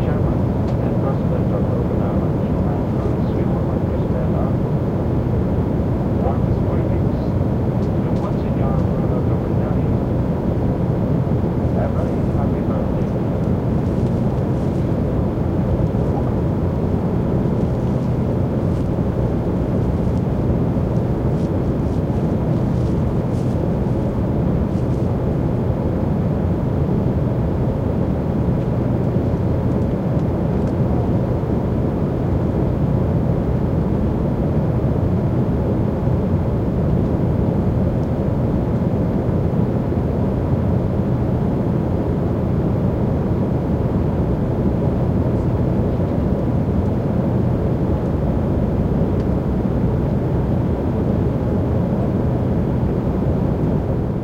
faint announcements (male, English) 0.0 - 4.8
hum of air conditioning and motors 0.0 - 54.2
faint announcements (male, English) 6.1 - 10.2
faint announcements (male, English) 11.5 - 16.4

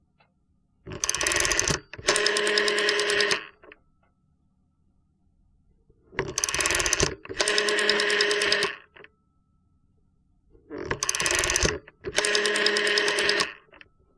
Dialing figure 0 on aPTT T65 telephone 0.9 - 3.7
Dialing figure 0 on aPTT T65 telephone 6.2 - 9.1
Dialing figure 0 on aPTT T65 telephone 10.7 - 13.9

